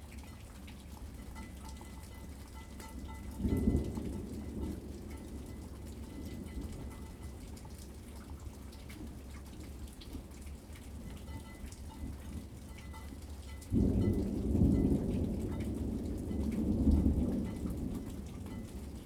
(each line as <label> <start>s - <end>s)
thunderstorm 3.3s - 7.4s
thunderstorm 13.7s - 19.0s